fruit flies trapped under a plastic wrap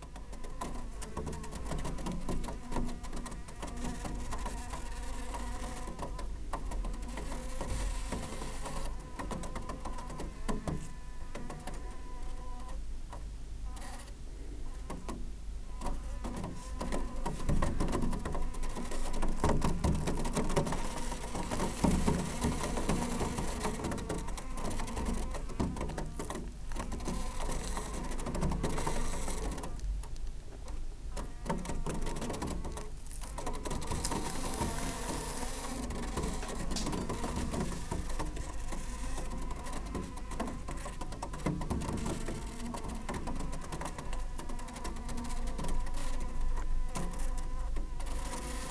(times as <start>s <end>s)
16.5s 27.7s, 32.4s 40.6s